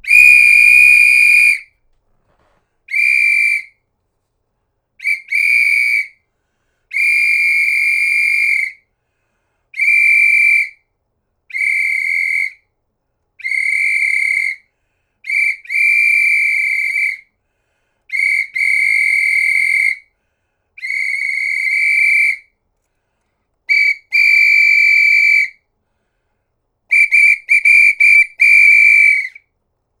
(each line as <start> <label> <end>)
0.0 pea whistle blowing 1.7
2.9 pea whistle blowing 3.8
5.0 pea whistle blowing 6.2
6.9 pea whistle blowing 8.8
9.8 pea whistle blowing 10.8
11.5 pea whistle blowing 12.6
13.4 pea whistle blowing 14.7
15.3 pea whistle blowing 17.3
18.1 pea whistle blowing 20.1
20.8 pea whistle blowing 22.5
23.7 pea whistle blowing 25.6
26.9 pea whistle blowing 29.4